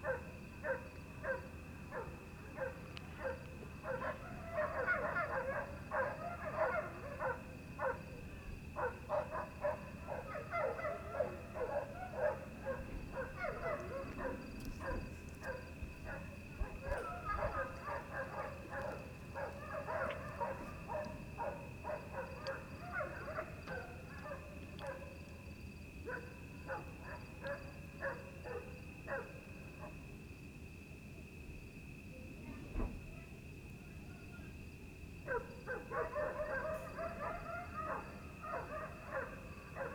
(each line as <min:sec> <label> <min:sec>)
0:00.0 dogs 0:25.4
0:26.0 dogs 0:30.1
0:35.2 dogs 0:39.9